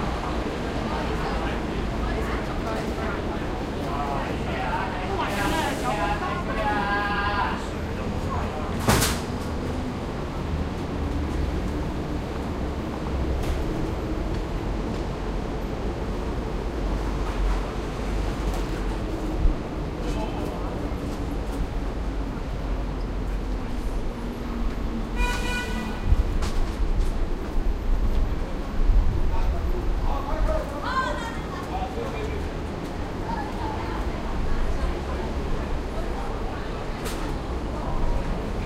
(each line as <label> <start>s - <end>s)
people talking 0.0s - 9.1s
bus 0.0s - 38.6s
traffic 0.0s - 38.6s
horn 25.2s - 26.2s
people talking 29.2s - 38.6s